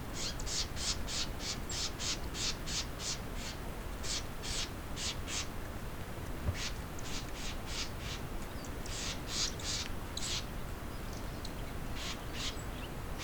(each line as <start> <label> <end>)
0.0 Light winds 13.2
6.5 birds 13.2